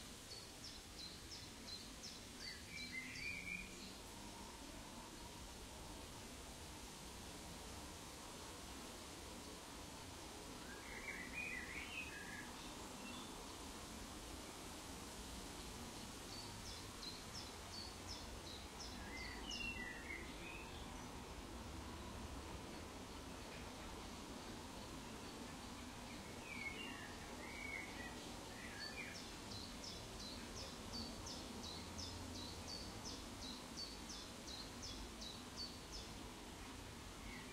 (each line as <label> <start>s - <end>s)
birdsong 16.3s - 21.1s
birdsong 25.2s - 36.2s